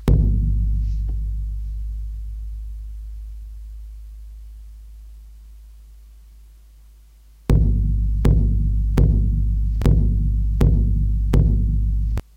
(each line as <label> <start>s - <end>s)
drum with deep and soft vibrations 0.0s - 12.3s